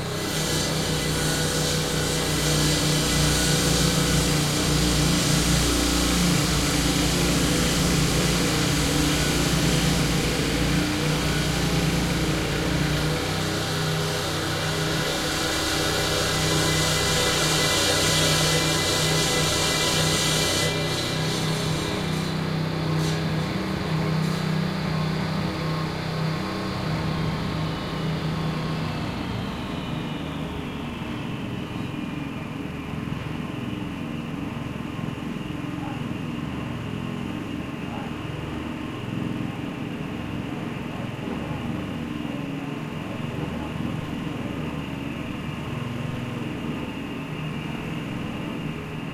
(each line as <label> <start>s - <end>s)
People Working On A German Construction 0.0s - 29.8s
crane 0.0s - 49.1s
drilling 0.0s - 24.5s